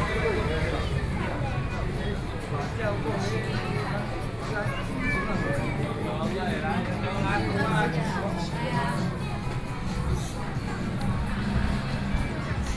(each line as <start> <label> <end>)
0.0 Traffic Sound 5.3
0.0 Various shops voices 12.7
0.0 walking in the Street 12.7
9.0 Traffic Sound 12.7